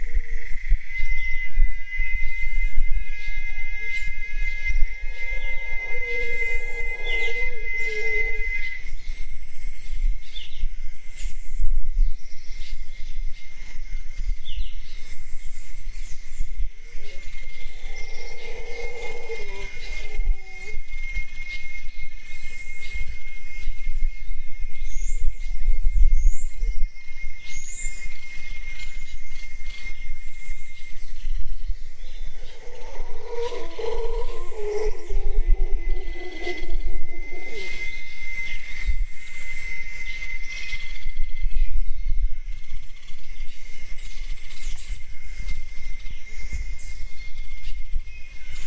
0.0s insects 48.6s
0.4s Howler Monkeys 10.4s
0.9s birds 48.6s
15.1s Howler Monkeys 23.8s
27.4s Howler Monkeys 41.4s

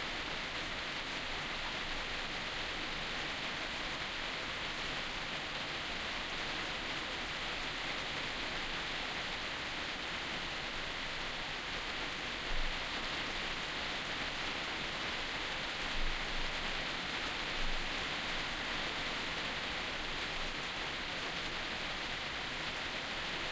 0.0s rain was falling on a roof 23.5s

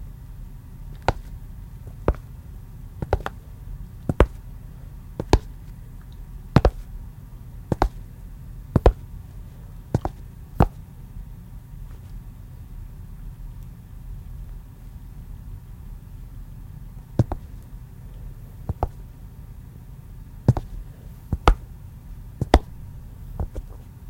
3.0s walking footsteps flat shoes tile floor 3.4s
20.5s walking footsteps flat shoes tile floor 20.8s
22.4s walking footsteps flat shoes tile floor 23.7s

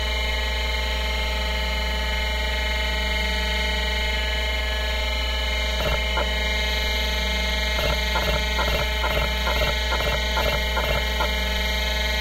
5.8s hard drive 6.5s
7.8s hard drive 12.2s

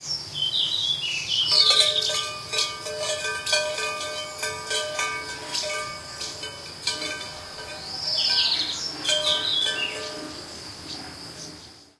0.0s crickets 11.9s
0.4s birds calling 11.9s
1.5s Cowbell 10.8s

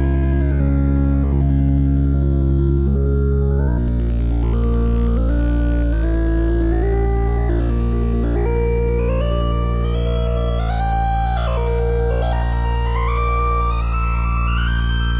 0.0s arpeggios made in fruity sampler and time stretched 15.1s

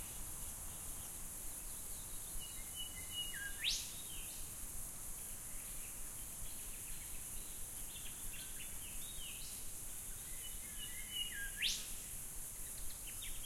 0.0s insects past mic 13.4s

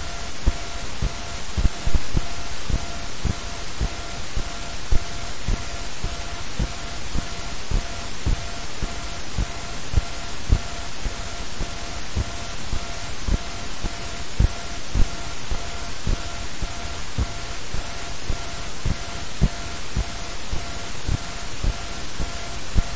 0.0s hum 22.9s

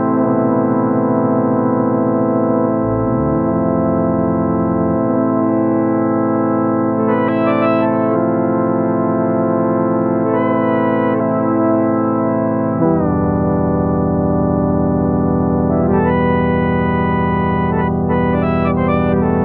2.7s Synth Jam 6.1s

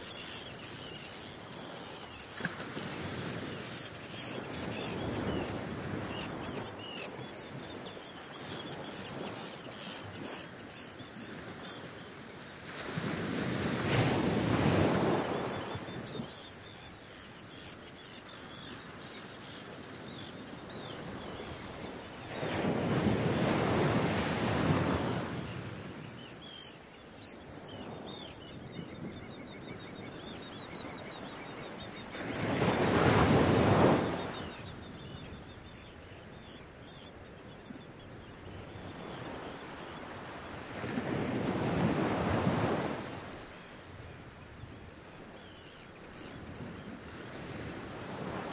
0.0s arctic tern 40.8s
0.0s Waves 48.5s
0.0s wind 48.5s

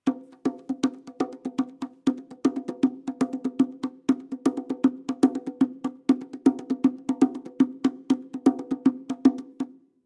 0.0s bongo 10.0s

